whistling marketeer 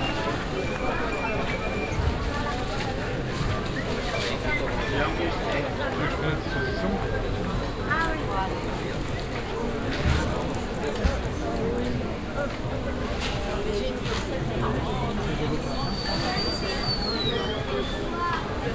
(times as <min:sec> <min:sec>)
0:00.0 0:05.4, 0:15.4 0:18.7